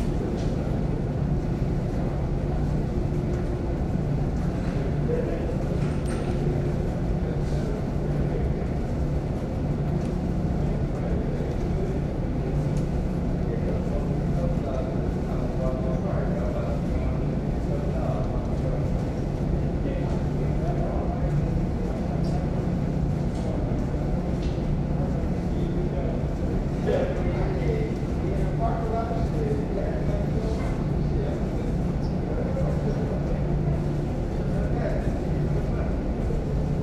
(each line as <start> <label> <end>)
0.0 distant conversations 36.8